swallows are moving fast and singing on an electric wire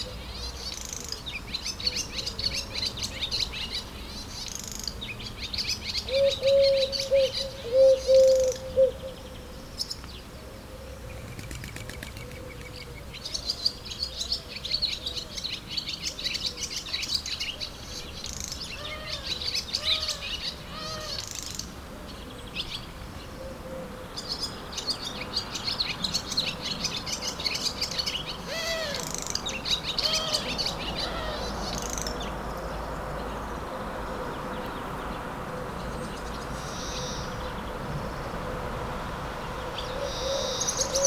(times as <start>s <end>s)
0.0s 6.1s, 11.1s 23.3s, 24.2s 38.4s